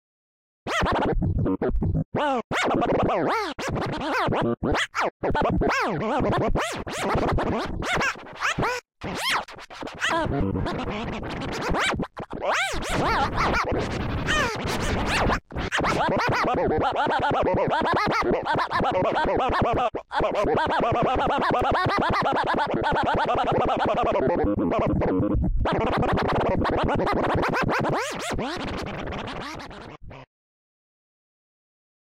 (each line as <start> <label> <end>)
6.6 scratch 16.5
25.9 scratch 30.0